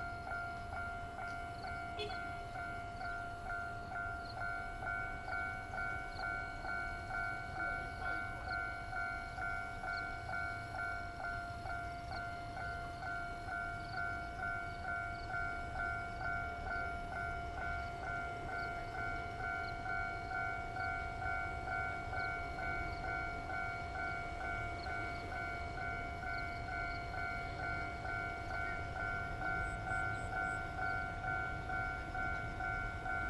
Trains traveling through 0.0 - 33.2

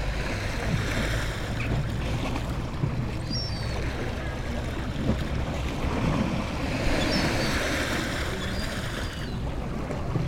waves 0.0 - 10.2

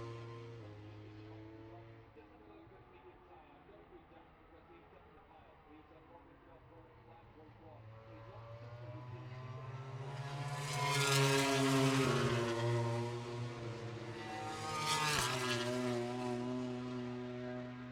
motorcycle grand prix 0.0 - 2.2
motorcycle grand prix 6.9 - 17.9

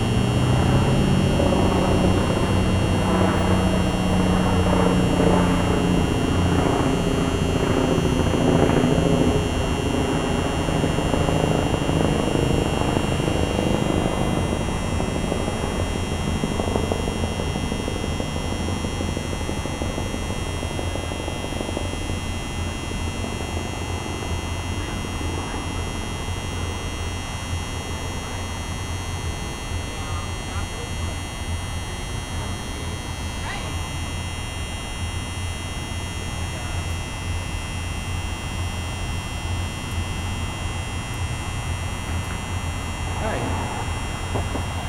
traffic 0.0 - 8.4
buzzing lamp post 0.0 - 44.8
helicopter flying overhead 0.0 - 44.8
traffic 42.0 - 44.8

